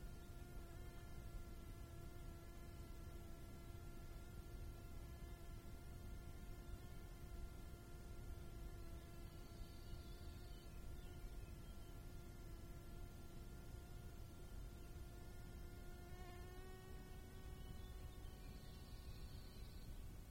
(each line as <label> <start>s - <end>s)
Large Bee Fly 0.0s - 20.3s
slight breeze 0.0s - 20.3s
stridulating Acrida mediterranea (grasshopper) 0.0s - 20.3s